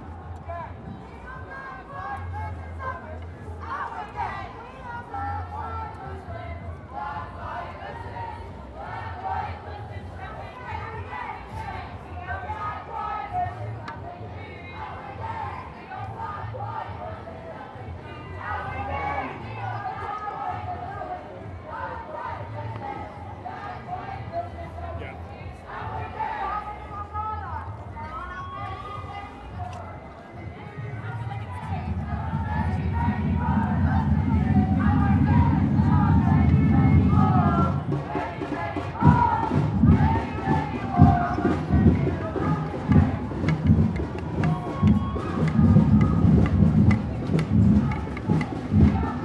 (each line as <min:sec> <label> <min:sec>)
0:00.0 March Against Racism 0:49.2